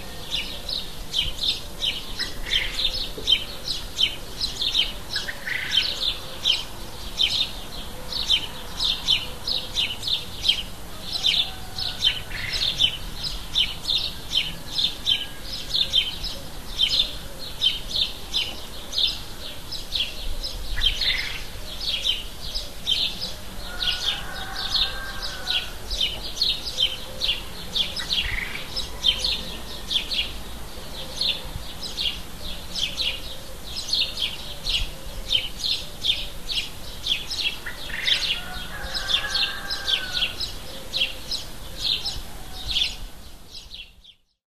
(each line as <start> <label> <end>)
0.0 house sparrows 44.2
10.9 rooster in the distance 12.8
23.2 rooster in the distance 30.2
37.8 rooster in the distance 43.2